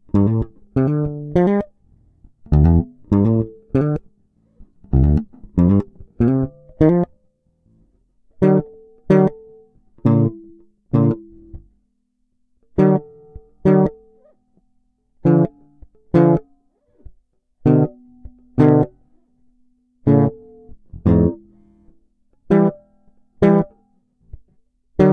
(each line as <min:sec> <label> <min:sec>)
0:00.0 Fretless jBass 8ttva squacks 0:07.2
0:08.4 Fretless jBass 8ttva squacks 0:11.7
0:12.8 Fretless jBass 8ttva squacks 0:14.2
0:15.2 Fretless jBass 8ttva squacks 0:19.0
0:20.0 Fretless jBass 8ttva squacks 0:21.5
0:23.4 Fretless jBass 8ttva squacks 0:23.7